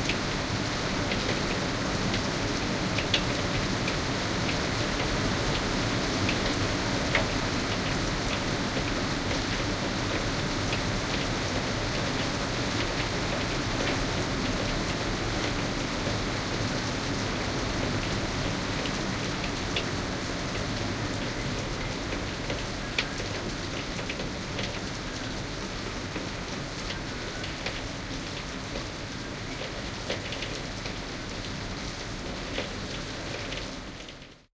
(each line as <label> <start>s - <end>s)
rain 0.0s - 34.5s